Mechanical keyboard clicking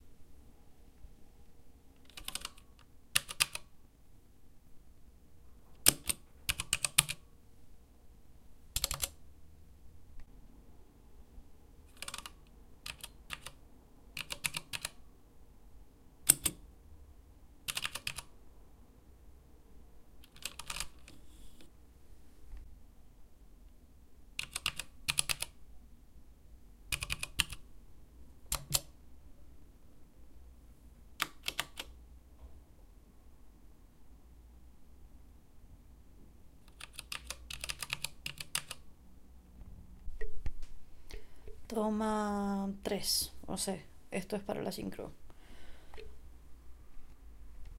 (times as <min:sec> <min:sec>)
0:02.0 0:03.7, 0:05.8 0:07.2, 0:08.8 0:09.2, 0:11.9 0:13.6, 0:14.2 0:15.0, 0:16.2 0:16.6, 0:17.7 0:18.3, 0:20.2 0:21.2, 0:24.4 0:25.6, 0:26.9 0:27.6, 0:28.5 0:28.9, 0:31.2 0:31.9, 0:36.7 0:38.8